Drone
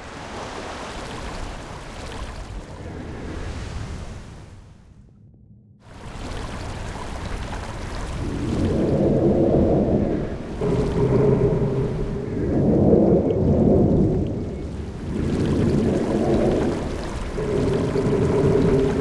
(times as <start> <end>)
10.5 13.7